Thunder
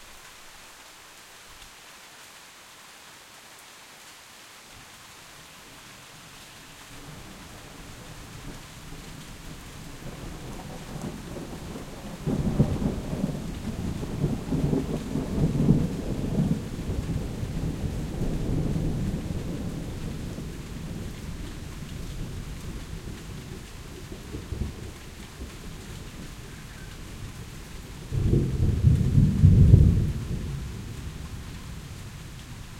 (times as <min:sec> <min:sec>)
0:28.0 0:31.3